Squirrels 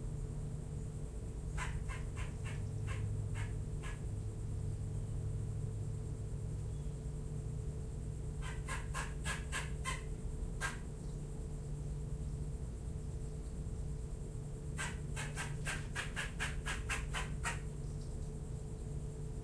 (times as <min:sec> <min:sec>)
0:01.5 0:04.2, 0:08.4 0:11.9, 0:14.6 0:19.2